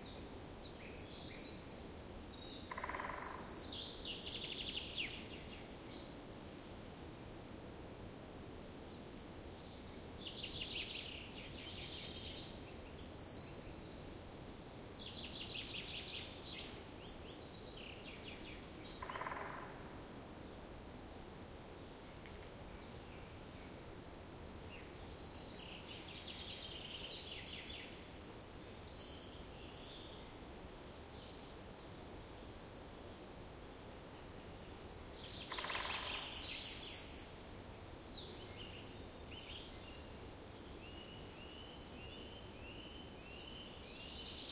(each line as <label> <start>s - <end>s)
birds 0.0s - 6.2s
Occasional woodpecker salvo 0.0s - 6.2s
Occasional woodpecker salvo 8.7s - 24.0s
birds 8.8s - 20.8s
Occasional woodpecker salvo 24.6s - 44.5s
birds 34.0s - 44.5s